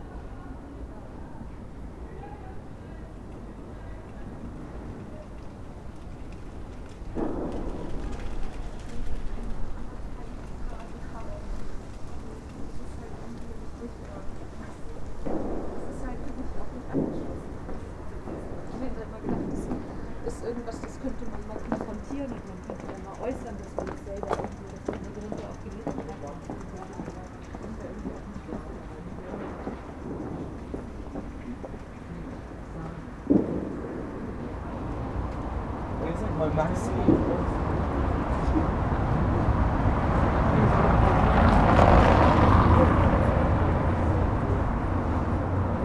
dry leaves and small flags in the wind 0:00.0 - 0:45.8
passers by 0:00.0 - 0:45.8
taxis 0:00.0 - 0:45.8

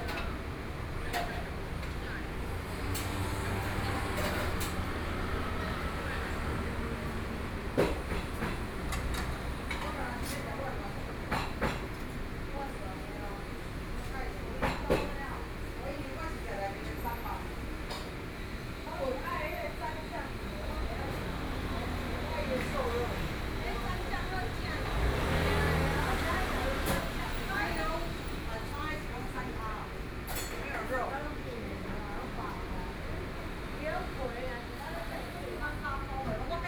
Traffic Sound 0:00.1 - 0:10.5
Traffic Sound 0:17.0 - 0:30.7

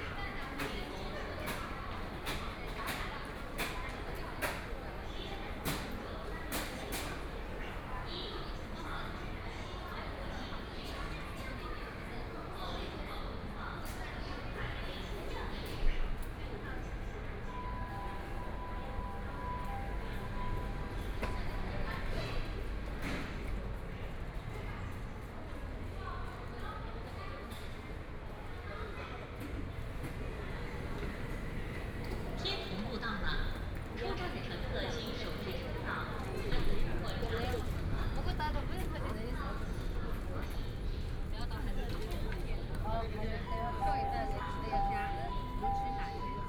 crowd 0:00.0 - 0:46.4
Station broadcast messages 0:43.1 - 0:46.4

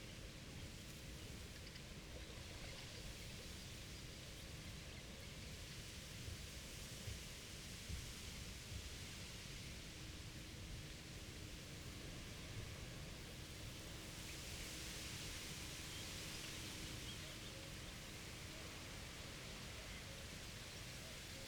windturbine in the distance 0:00.0 - 0:21.4

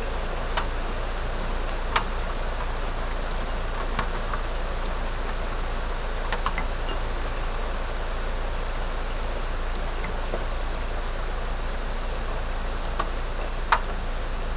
rain 0:00.0 - 0:14.5

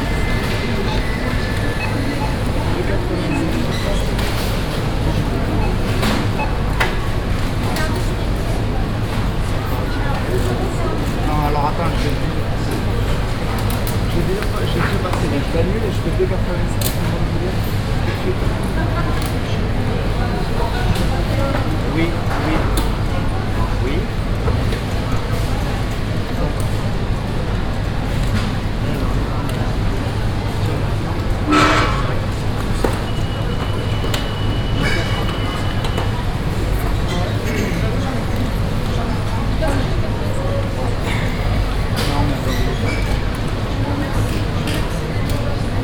beeping digital scanners 0:00.2 - 0:06.7
beeping digital scanners 0:32.9 - 0:36.2

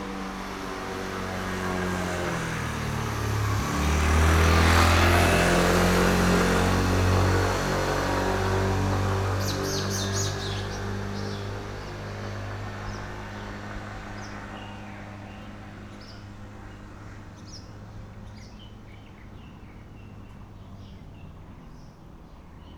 Traffic Sound 0:00.0 - 0:22.7
Birds singing 0:09.2 - 0:22.7

